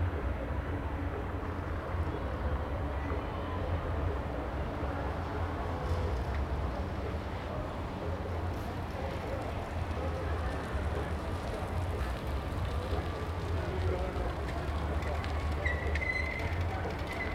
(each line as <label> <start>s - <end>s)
bicycles rattling 5.8s - 17.3s
cars on gravel 8.5s - 17.3s